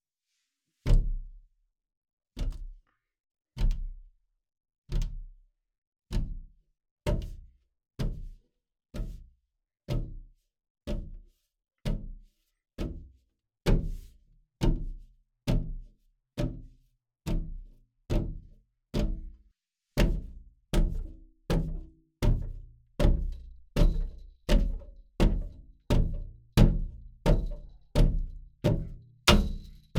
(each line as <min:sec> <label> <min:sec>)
0:29.3 banging against a window 0:29.9